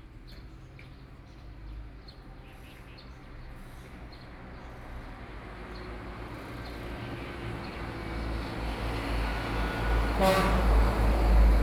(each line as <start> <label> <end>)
5.0 Traffic Sound 11.6